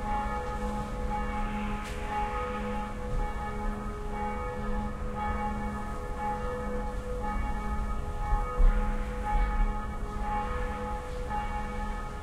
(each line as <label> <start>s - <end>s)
Churchbells 0.0s - 12.2s